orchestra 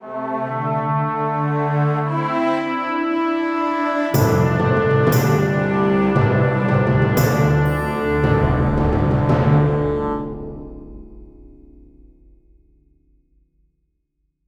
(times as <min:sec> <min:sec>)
0:00.0 0:10.8